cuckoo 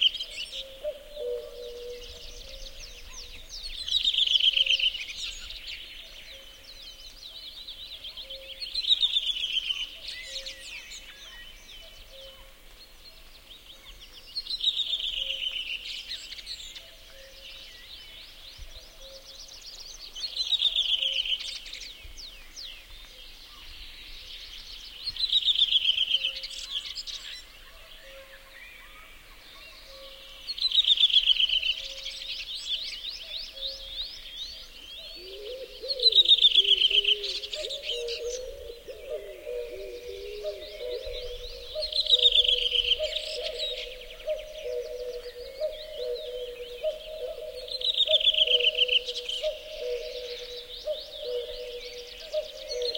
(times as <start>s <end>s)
0.0s 6.7s, 35.0s 52.9s